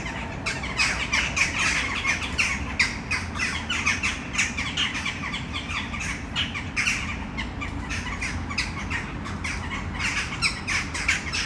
Western jackdaws 0:00.0 - 0:11.4

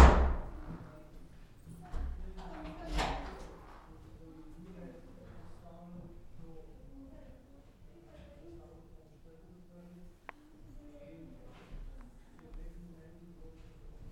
quiet words 0:00.6 - 0:14.1

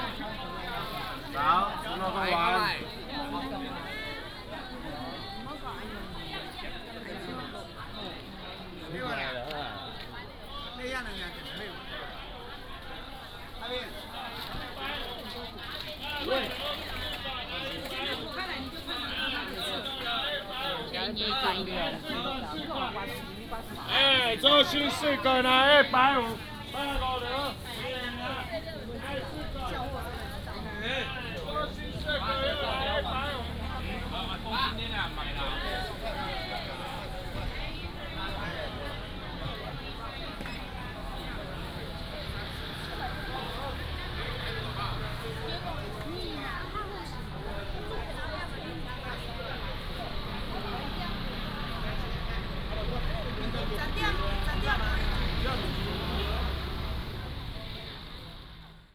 Market selling sound 0:00.0 - 0:58.9
Walking in the traditional market 0:00.0 - 0:58.9

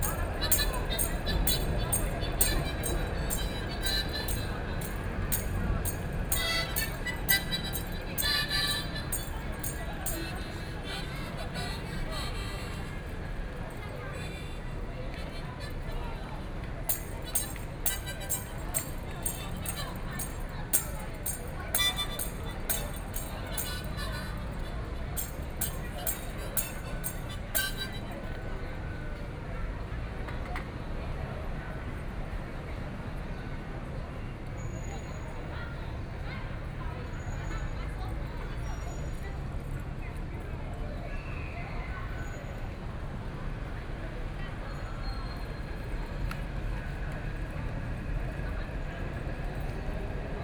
Traffic Sound 0:00.0 - 0:29.2

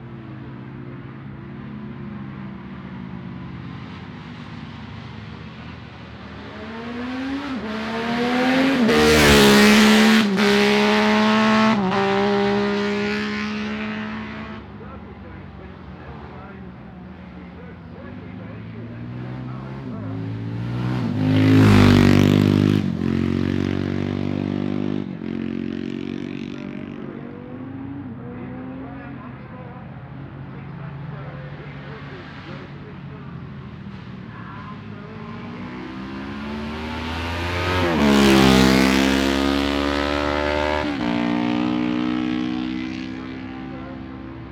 classic bikes including two Patons and an MV Agusta 0:14.1 - 0:44.5

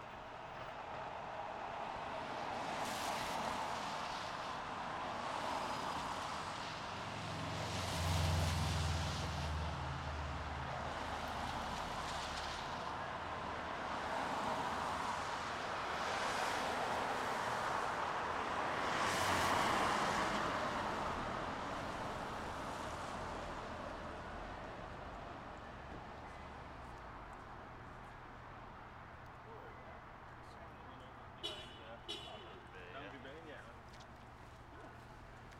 Passersby 0:00.0 - 0:35.5

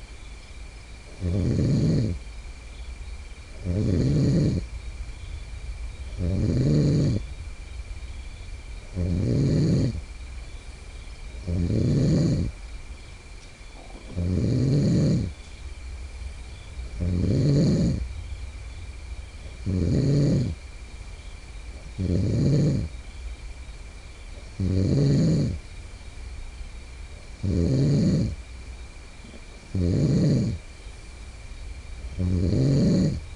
Friend Snoring in Tent 0:01.1 - 0:02.3
Friend Snoring in Tent 0:03.5 - 0:04.7
Friend Snoring in Tent 0:06.0 - 0:07.3
Friend Snoring in Tent 0:08.8 - 0:10.1
Friend Snoring in Tent 0:11.3 - 0:12.6
Friend Snoring in Tent 0:13.8 - 0:15.4
Friend Snoring in Tent 0:16.5 - 0:18.1
Friend Snoring in Tent 0:19.4 - 0:20.6
Friend Snoring in Tent 0:21.7 - 0:23.0
Friend Snoring in Tent 0:24.4 - 0:25.6
Friend Snoring in Tent 0:27.4 - 0:28.4
Friend Snoring in Tent 0:29.2 - 0:30.7
Friend Snoring in Tent 0:32.0 - 0:33.3

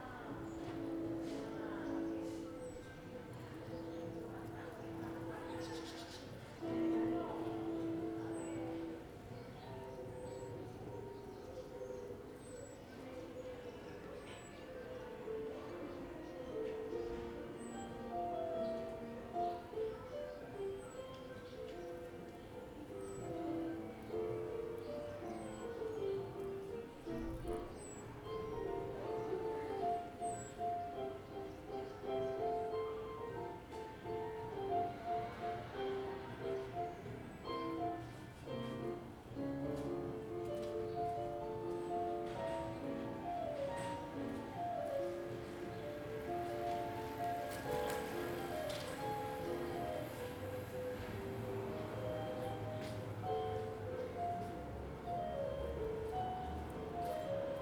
People talking 0:00.0 - 0:39.2
music 0:00.0 - 0:57.6
someone playing the piano 0:00.0 - 0:57.6

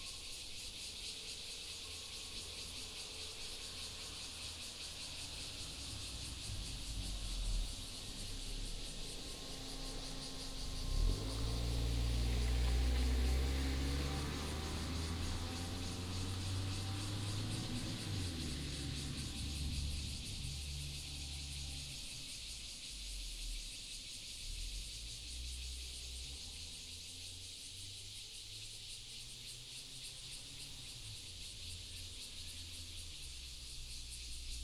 Cicada 0:00.0 - 0:34.6
traffic sound 0:02.4 - 0:22.2

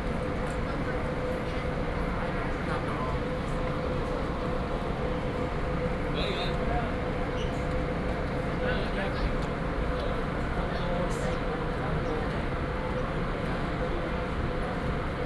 Walking at the train station 0:00.0 - 0:15.2

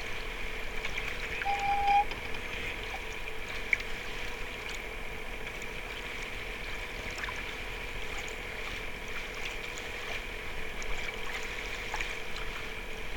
hull of the boat 0:00.0 - 0:13.1

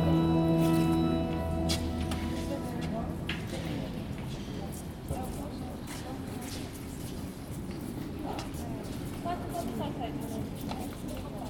steps 0:00.0 - 0:08.4
whispers of visitors 0:00.0 - 0:11.4

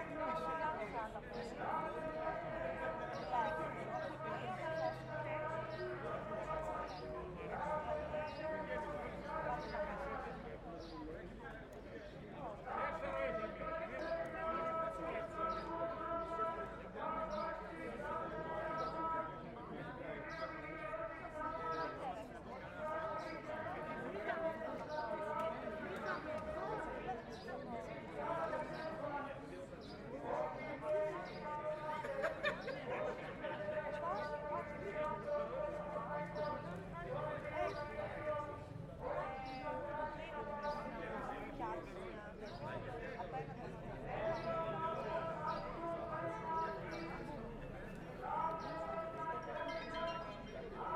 Protest 0:00.0 - 0:10.7
Protest 0:12.4 - 0:50.9

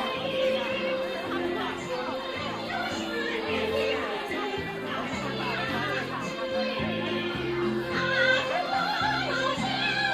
ensembles of amateur musicians performing 0:00.0 - 0:10.1
perform with battery amplified karaoke systems 0:00.0 - 0:10.1

